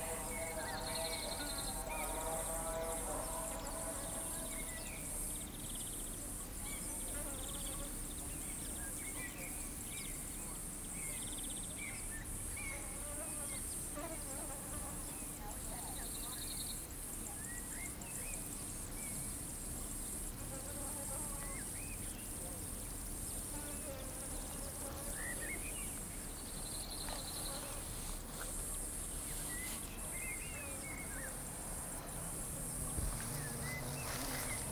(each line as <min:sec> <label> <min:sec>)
0:00.0 distant amplified voice echoing from the hills 0:05.1